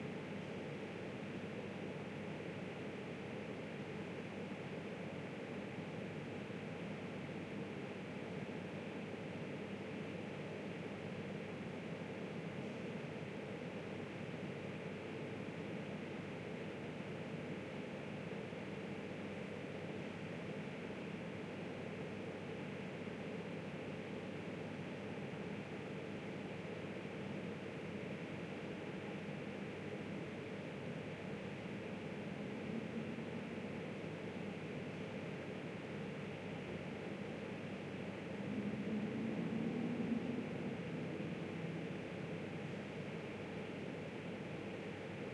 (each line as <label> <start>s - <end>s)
drone 38.3s - 41.8s